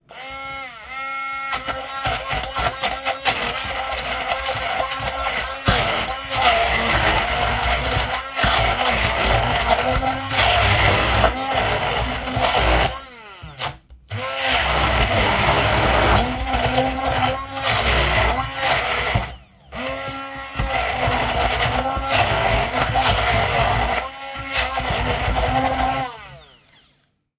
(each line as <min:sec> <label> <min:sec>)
0:00.0 blending chickpeas 0:26.8